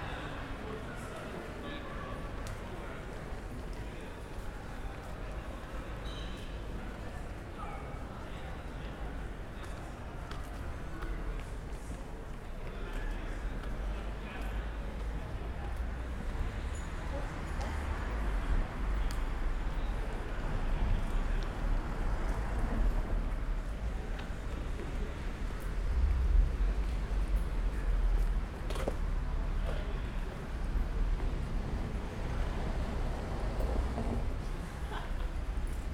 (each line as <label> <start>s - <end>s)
people in the street 0.0s - 35.9s